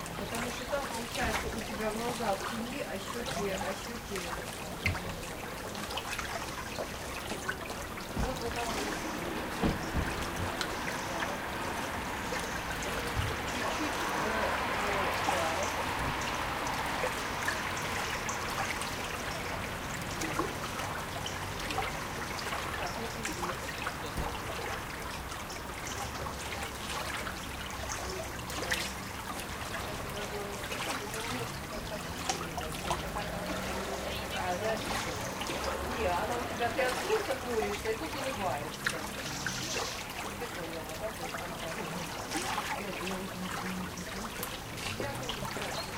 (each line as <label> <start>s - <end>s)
cars 0.0s - 45.9s
small river 0.0s - 45.9s